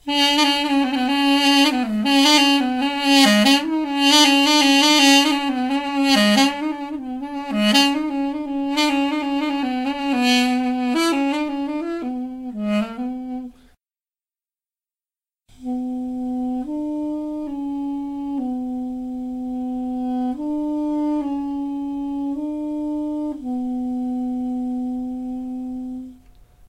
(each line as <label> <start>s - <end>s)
Duduk 0.1s - 13.5s